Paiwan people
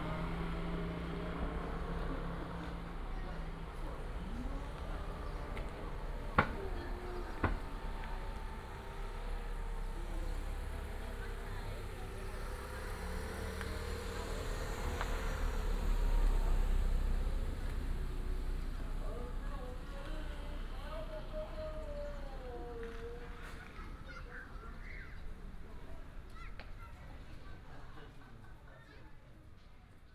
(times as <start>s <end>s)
18.4s 29.0s